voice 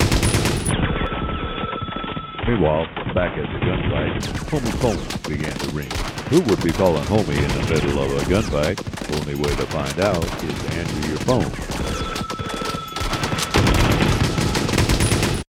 2.4s 12.2s

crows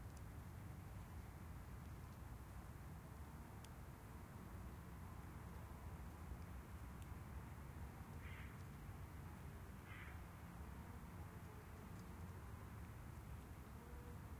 8.2s 8.6s, 9.8s 10.2s

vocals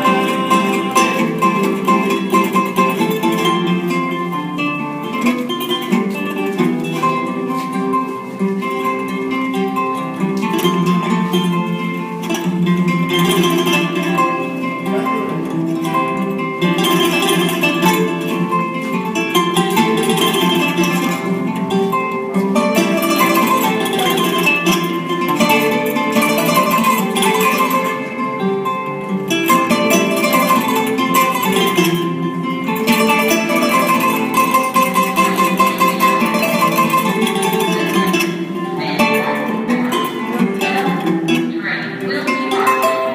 34.4s 43.1s

